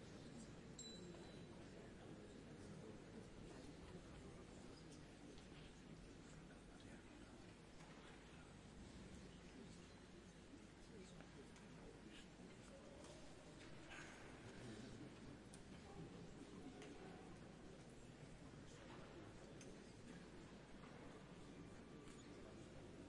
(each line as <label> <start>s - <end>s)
Public in a cathedral before a concert, slowly getting quieter 0.0s - 23.0s